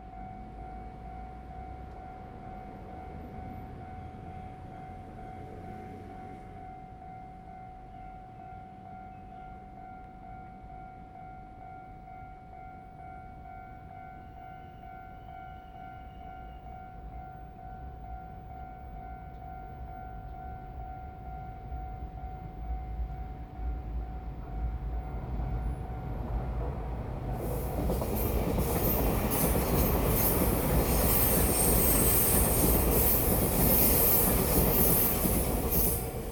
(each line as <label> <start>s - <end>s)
The train runs through 0.0s - 36.3s
traffic sound 23.4s - 36.3s